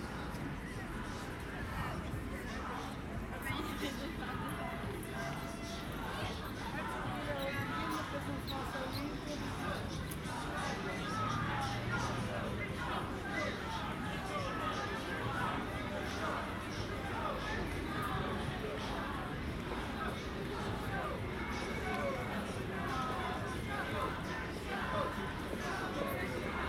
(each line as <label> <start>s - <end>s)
music 0.0s - 26.6s
singing 0.0s - 26.6s
chanting 4.4s - 26.6s